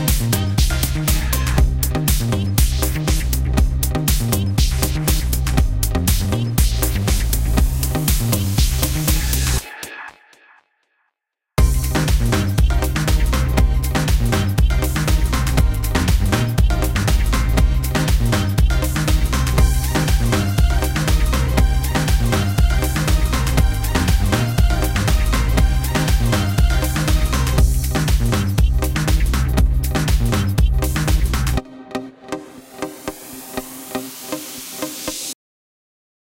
0.0s bass 9.6s
11.6s lead synth 30.1s
11.6s bass 31.6s

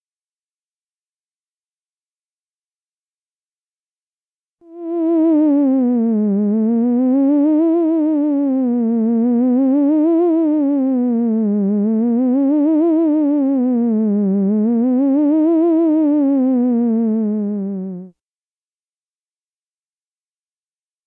4.7s sci fi theremin 18.1s

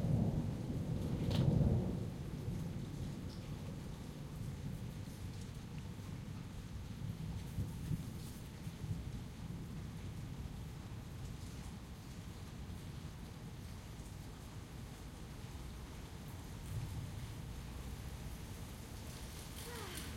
0.0s Rain After Storm 20.1s
0.0s wind 20.1s
19.0s bikes 20.1s

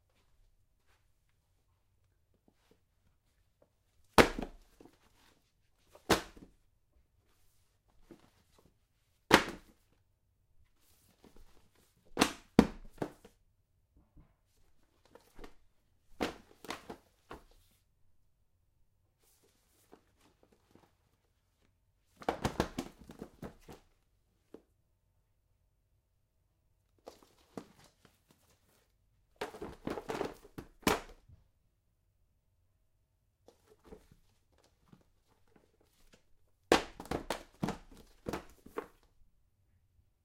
4.1s throwing pile of books on floor 6.5s
9.3s throwing pile of books on floor 9.9s
11.1s throwing pile of books on floor 13.3s
15.0s throwing pile of books on floor 17.6s
22.2s throwing pile of books on floor 23.8s
29.4s throwing pile of books on floor 31.2s
35.5s throwing pile of books on floor 39.1s

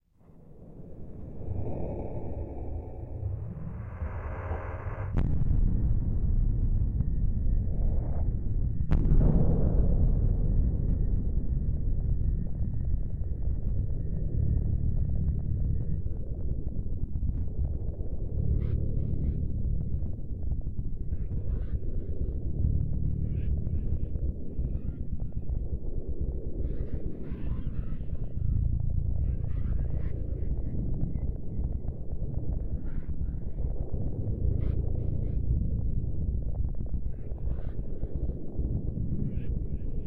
0.0s sub bass for the vibration 40.0s
3.0s boom 6.8s
8.9s boom 10.8s

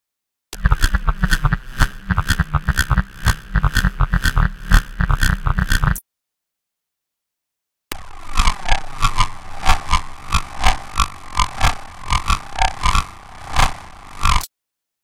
0.6s repetitive engine thrums 6.0s
0.6s scientific glitches 6.0s
8.0s scientific glitches 14.5s
8.0s repetitive engine thrums 14.3s

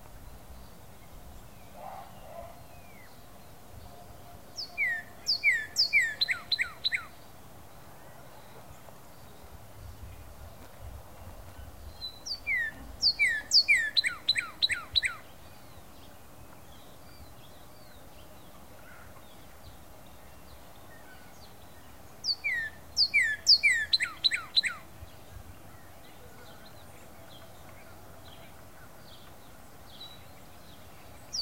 0.0s starlings in the background with their waking up chorus 31.4s
4.2s red male cardinal was singing proud and loud 7.3s
11.6s red male cardinal was singing proud and loud 19.0s
20.2s red male cardinal was singing proud and loud 31.4s

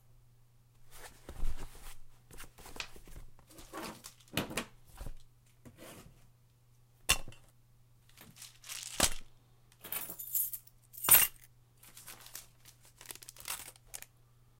8.1s putting stuff into a handbag 9.3s
9.9s putting stuff into a handbag 14.0s

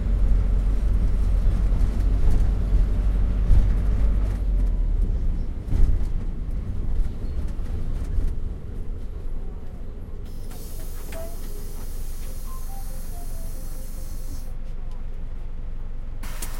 0.0s Minibus 16.5s

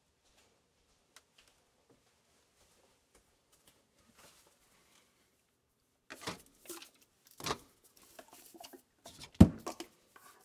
6.1s Food cans being handled 10.4s

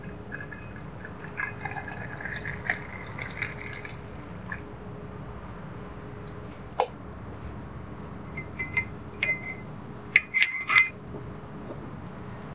0.0s Coffee is served from a coffee pot into a cup 4.6s

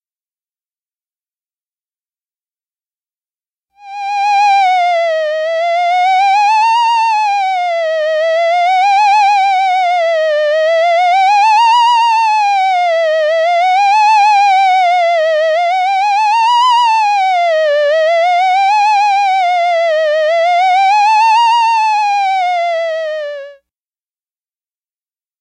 3.8s theremin effects 23.6s

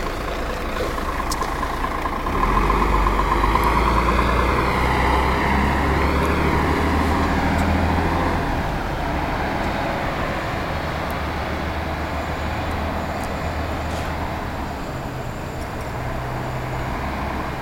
0.0s Bus crosses road and turns 17.6s

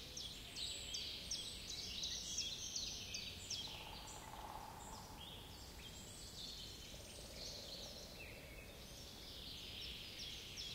3.6s woodpecker 5.3s

